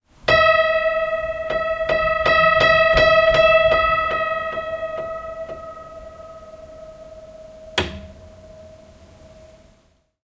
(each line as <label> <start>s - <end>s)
Detuned Piano 0.3s - 9.8s